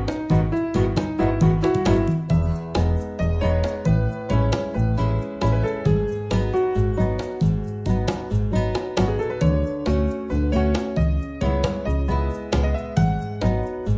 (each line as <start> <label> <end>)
0.0 bass 13.9
0.0 congo 13.9
0.0 guitar 13.9
0.0 piano 13.9
0.0 shaker 13.9